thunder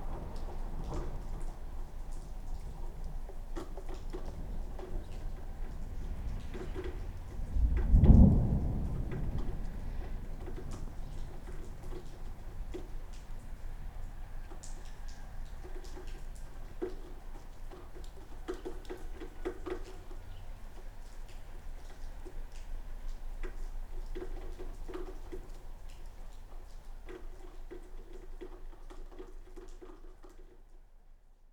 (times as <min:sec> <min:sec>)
0:04.2 0:13.6